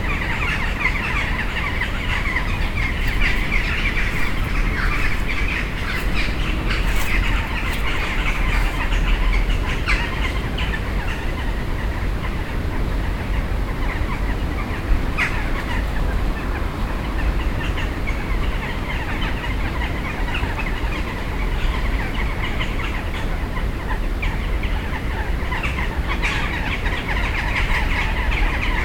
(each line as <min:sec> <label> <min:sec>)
0:00.0 crows gathering in two trees 0:28.8